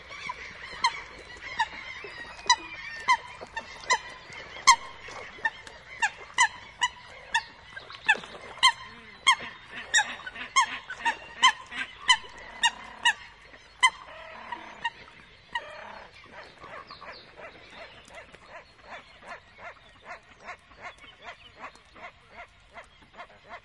0.0s wings splashing 16.8s
0.0s other birds in the bg 23.6s
0.0s coots 23.6s
0.0s great crested grebes 23.6s

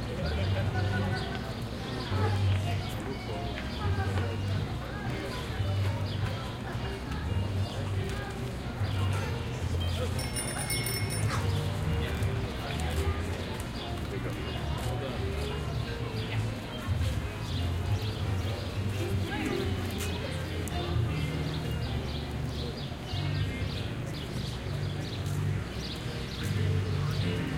0.0s crowd 27.5s
0.0s music 27.5s
0.0s street performers 27.5s
1.2s Walking 27.5s

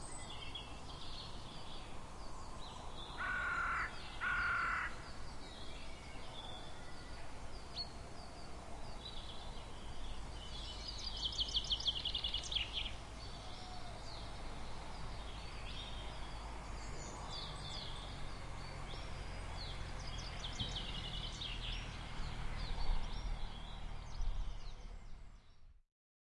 3.2s crow 5.0s

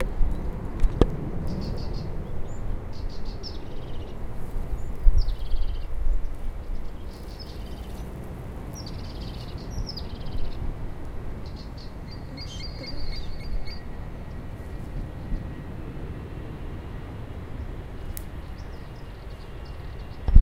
1.5s crested tit 10.6s
11.4s crested tit 15.6s

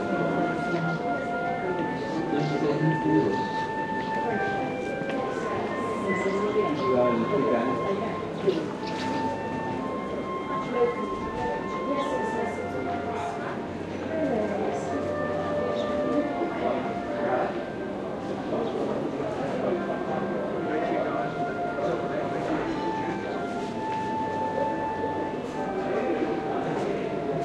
0.0s music 27.4s

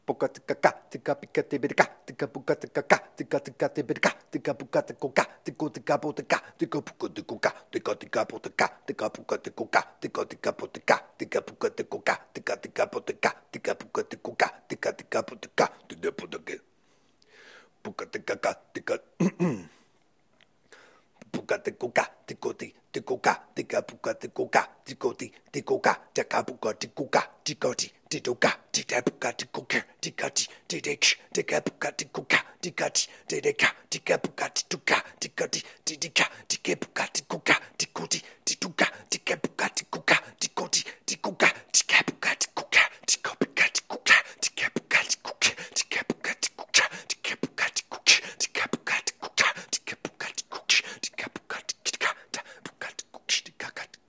0.0s beatboxing 16.6s
21.2s beatboxing 54.0s

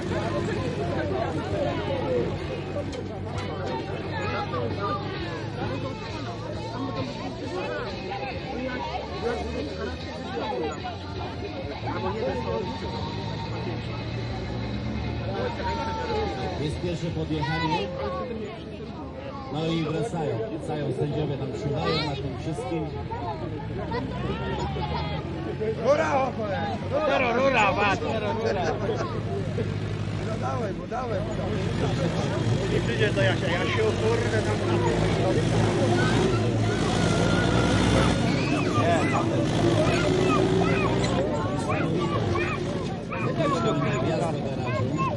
0.0s tractor race 45.1s

